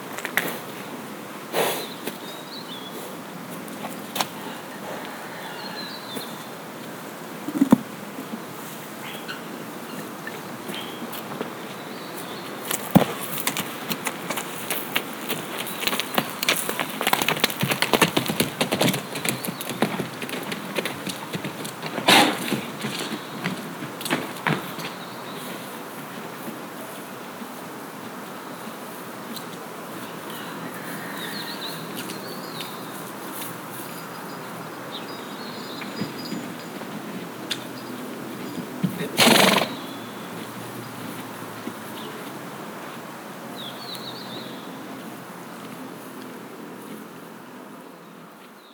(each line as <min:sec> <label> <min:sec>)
0:10.7 horse 0:27.1
0:35.1 horse 0:42.3